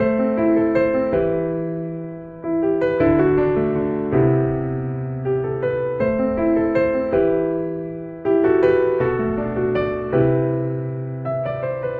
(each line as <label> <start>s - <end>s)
Piano 0.0s - 11.9s